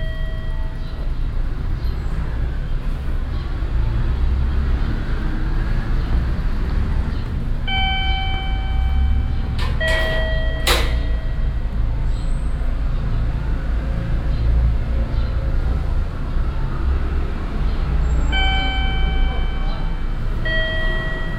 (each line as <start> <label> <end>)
0.0 door bell sounding as people enter or leave the building 1.4
7.7 door bell sounding as people enter or leave the building 12.6
18.2 door bell sounding as people enter or leave the building 21.3